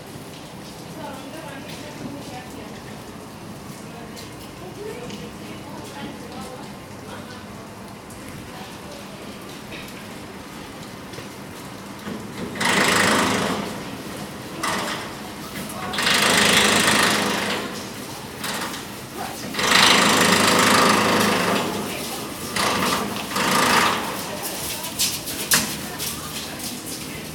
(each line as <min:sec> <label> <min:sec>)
0:00.4 Construction Work 0:27.3